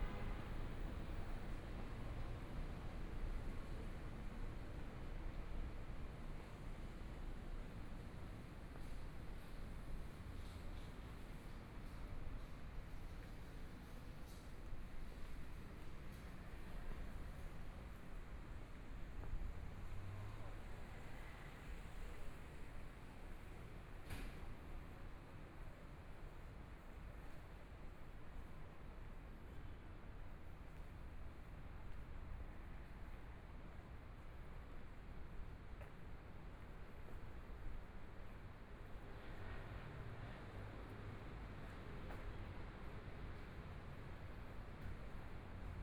Traffic Sound 0.0 - 5.4
Traffic Sound 15.1 - 25.0

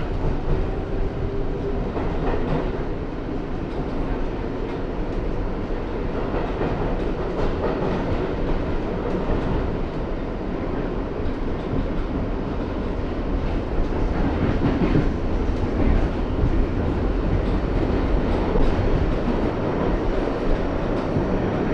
riding on a Subway Train 0.0 - 21.7

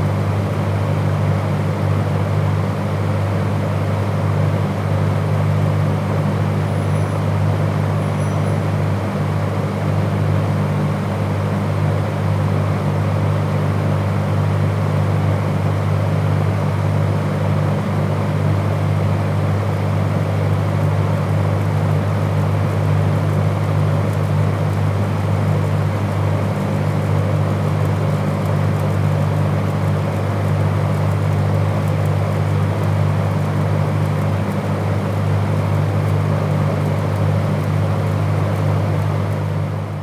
ventilation noise 0.0 - 40.0

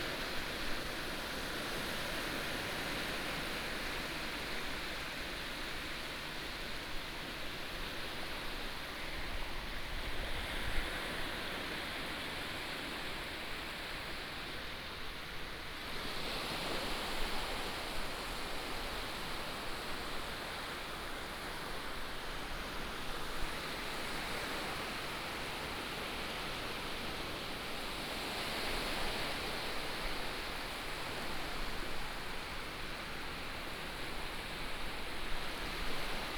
Waves 15.9 - 36.3

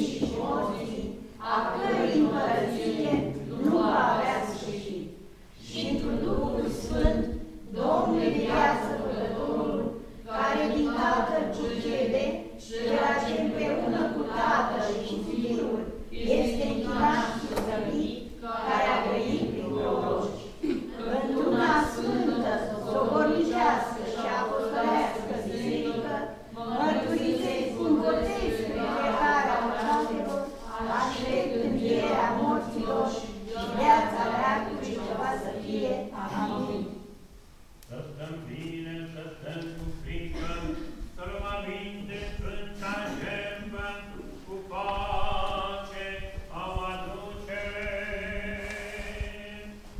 prayer 0.0 - 37.1
prayer 37.9 - 49.9

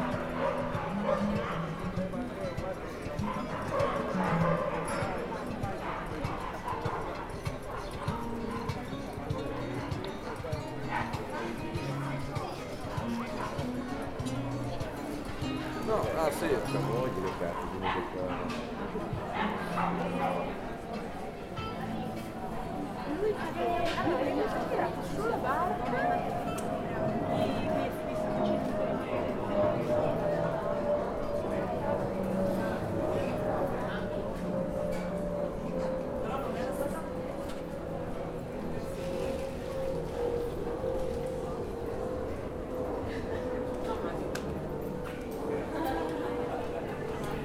Menschengruppen im Gespräch 0.0 - 47.4
Spaziergang entlang der Küste 0.1 - 41.4

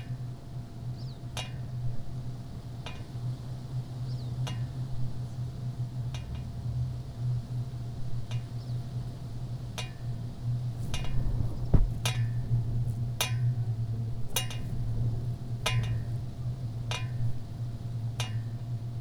flagpole 10.7 - 13.3

